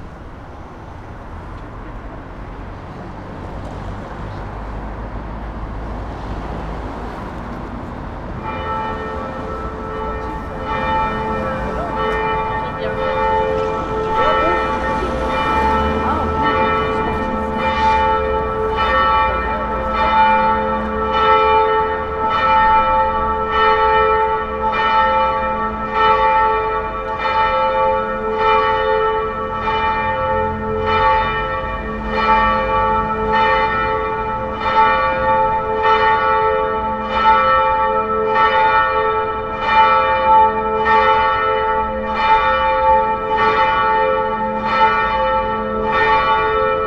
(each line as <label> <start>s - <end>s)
bells 8.2s - 46.8s